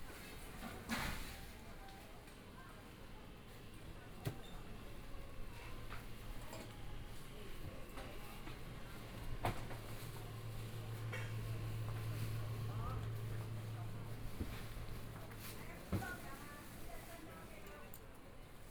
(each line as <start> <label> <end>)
4.9 Walking through the market 18.7